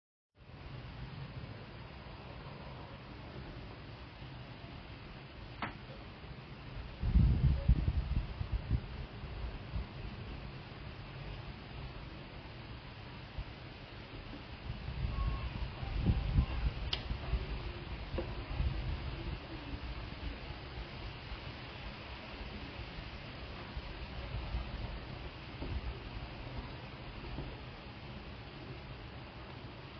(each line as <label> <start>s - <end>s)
Soft light rain falling 0.4s - 29.9s
Faint tram station ambience 0.4s - 29.9s
Strong winds rustling through trees and shrubs 0.4s - 29.9s
Gentle background voices from people nearby 2.0s - 29.9s